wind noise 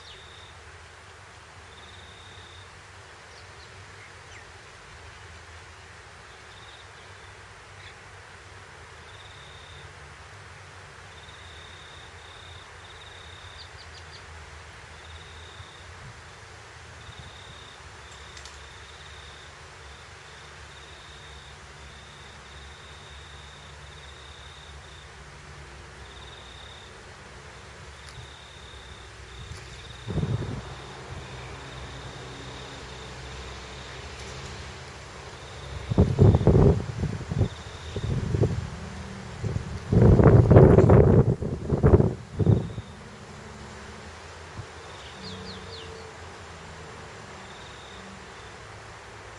29.4 31.6, 35.7 43.0

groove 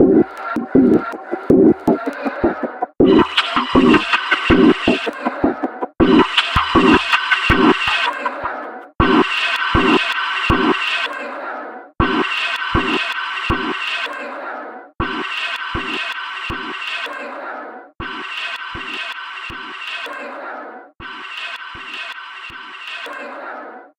0.0 11.0

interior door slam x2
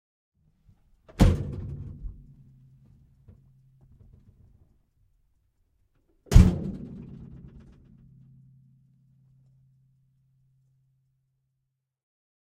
6.3 7.6

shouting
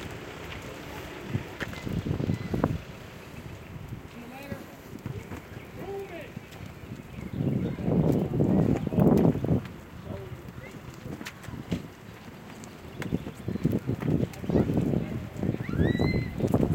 15.6 16.5

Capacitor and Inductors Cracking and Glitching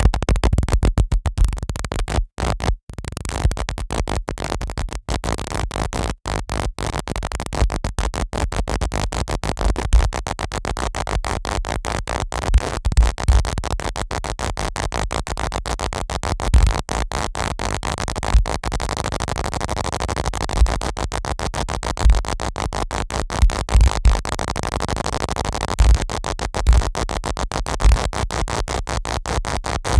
23.4 29.9

